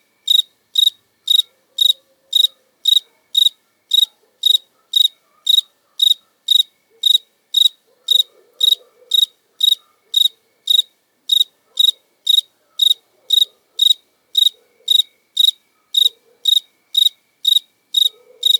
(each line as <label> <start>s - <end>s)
Cricket singing 0.2s - 18.5s
dogs 4.0s - 7.1s
dogs 7.9s - 10.4s
dogs 15.8s - 16.5s
dogs 18.1s - 18.5s